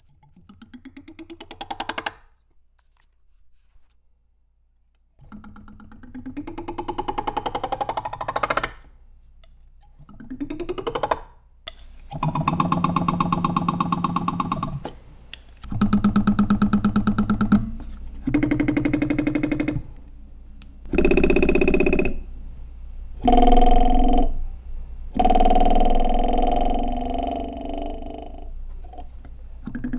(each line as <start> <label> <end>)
11.7 Metal Beam Plank Vibration Sequence 29.9